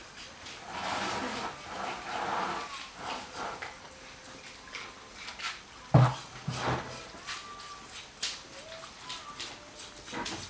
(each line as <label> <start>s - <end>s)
women singing in distance 2.6s - 10.4s